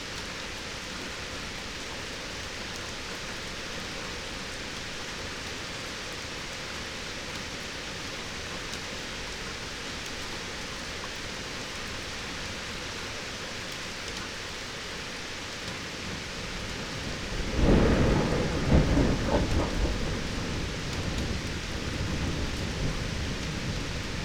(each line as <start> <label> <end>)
0.0 rain 24.2
16.1 thunderstorm 24.2